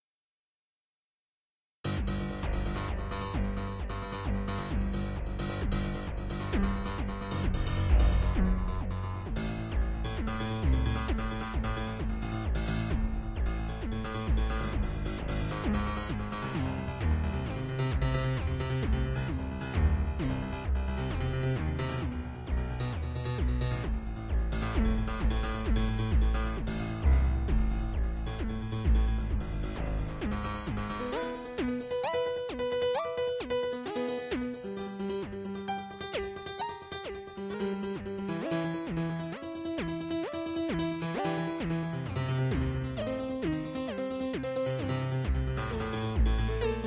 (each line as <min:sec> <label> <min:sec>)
0:01.9 Piano with The Bends 0:46.8